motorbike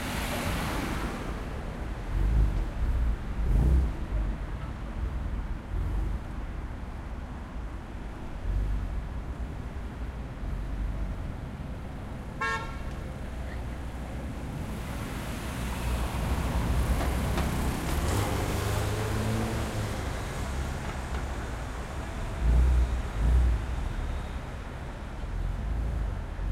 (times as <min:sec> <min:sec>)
0:00.0 0:07.0, 0:13.4 0:26.5